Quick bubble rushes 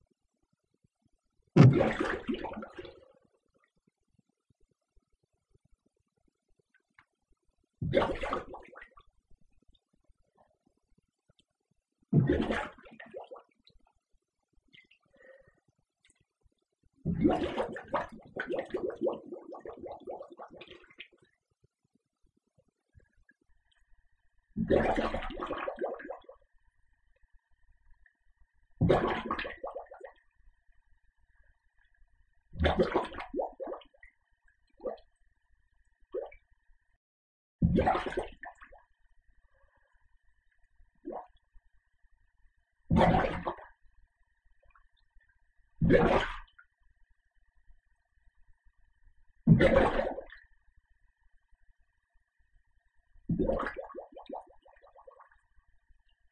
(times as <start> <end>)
1.6 3.0, 7.8 8.8, 12.2 13.3, 17.0 21.0, 24.6 26.3, 28.8 30.2, 32.6 33.8, 37.6 38.6, 42.9 43.7, 49.5 50.4, 53.3 54.8